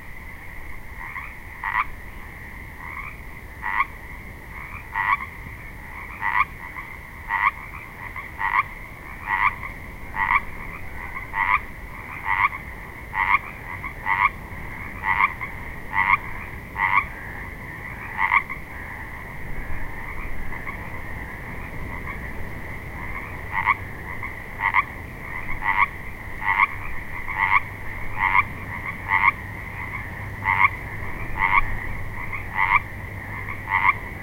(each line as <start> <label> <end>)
0.0 Pacific tree frogs (Pseudacris regilla) croaking 34.2
0.0 wind noise from nearby trees 34.2